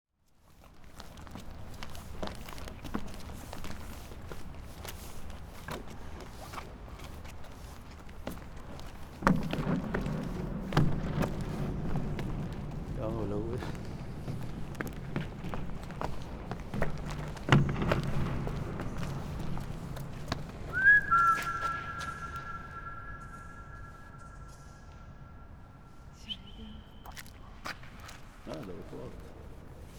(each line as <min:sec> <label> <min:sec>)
0:13.0 voice 0:13.7
0:28.5 voice 0:29.2